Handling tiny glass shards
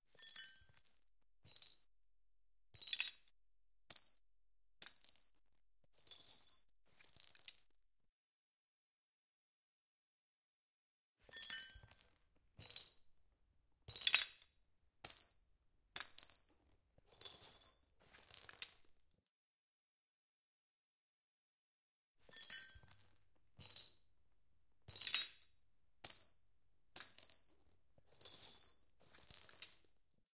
28.1 29.9

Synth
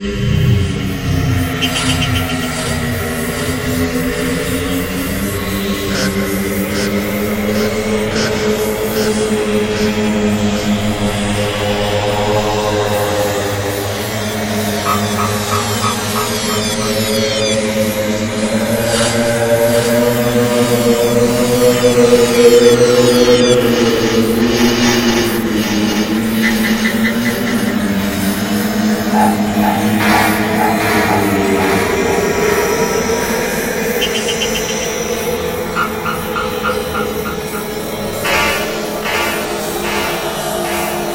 14.4 24.0, 26.2 41.1

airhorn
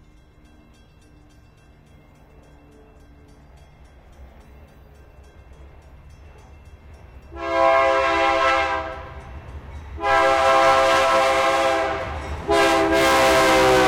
7.4 9.0, 10.0 13.8

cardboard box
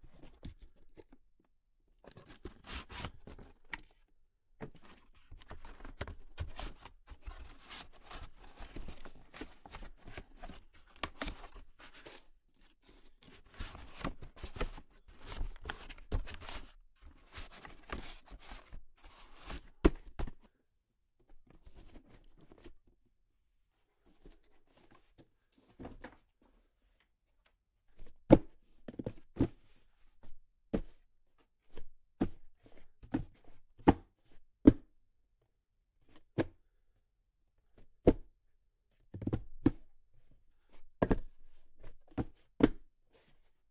4.6 20.4

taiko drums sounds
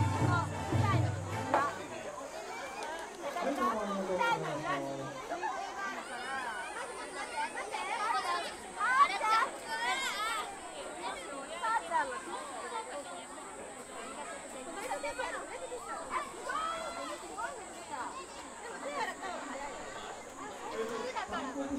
0.0 1.8

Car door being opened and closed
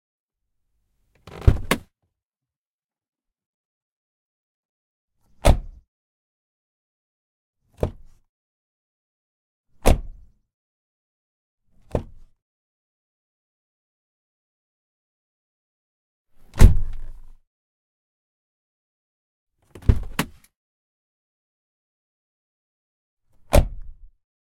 1.2 1.9, 7.8 8.2, 9.8 10.2, 16.5 17.1, 19.8 20.4, 23.5 23.9

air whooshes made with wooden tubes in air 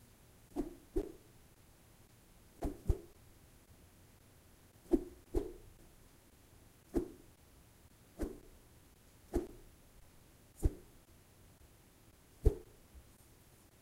2.6 3.1, 9.3 9.6, 10.6 10.9, 12.4 12.7

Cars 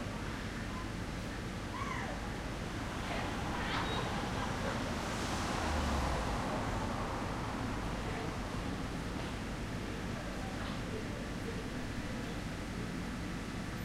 1.6 11.4

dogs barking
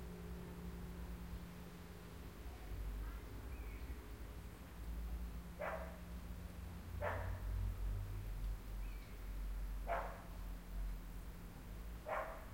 5.6 6.0, 7.0 7.4, 9.9 10.3, 12.0 12.5

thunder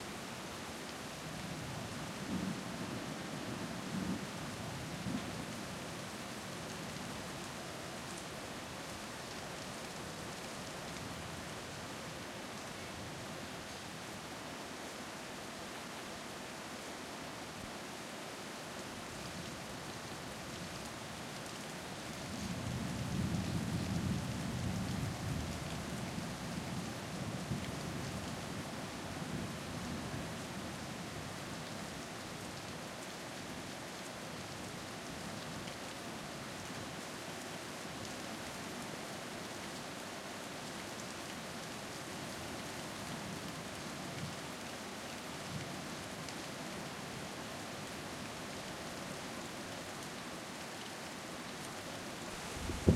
52.5 52.9

